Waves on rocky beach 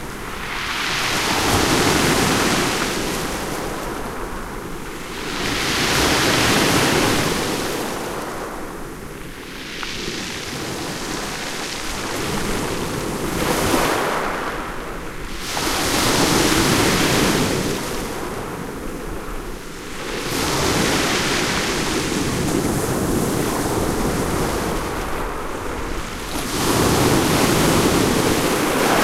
0:00.0 0:08.4, 0:19.7 0:29.0

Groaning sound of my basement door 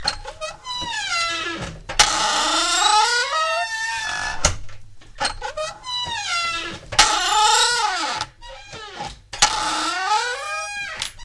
0:05.3 0:11.2

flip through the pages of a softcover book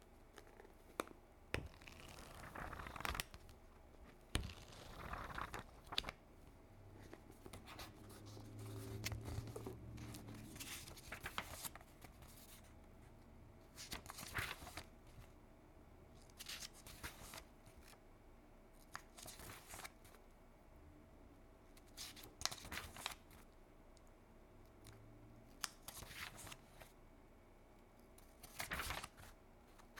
0:00.3 0:06.2, 0:06.9 0:12.7, 0:13.7 0:15.3, 0:16.2 0:18.0, 0:18.8 0:20.2, 0:21.8 0:23.6, 0:25.5 0:27.0, 0:28.2 0:29.9

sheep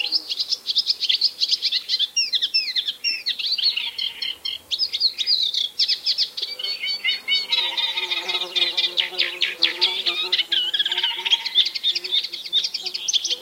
0:10.1 0:11.8

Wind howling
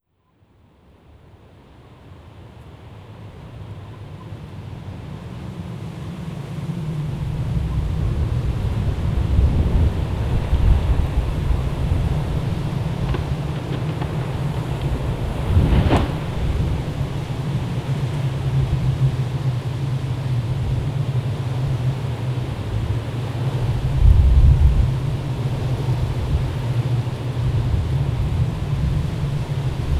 0:06.8 0:29.9

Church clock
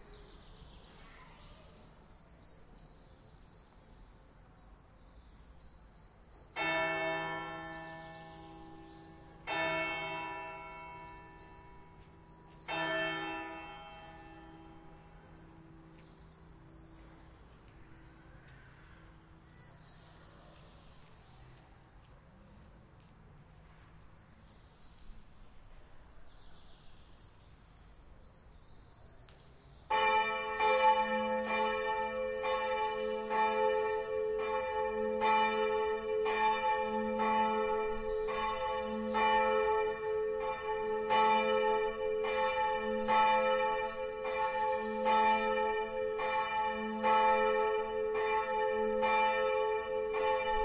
0:05.9 0:22.1, 0:29.3 0:50.6

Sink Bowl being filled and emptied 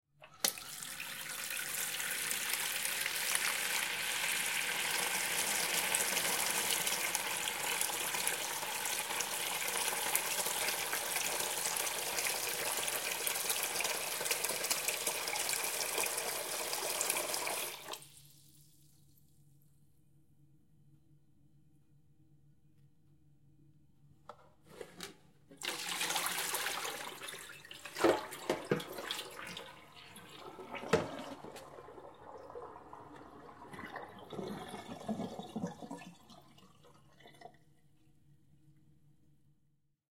0:00.2 0:19.1, 0:25.5 0:38.2

